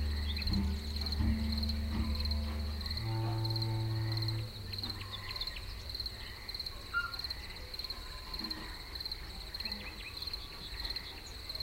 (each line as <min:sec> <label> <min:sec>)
0:00.0 Jazz musicians playing 0:05.3
0:00.0 nature sound 0:11.6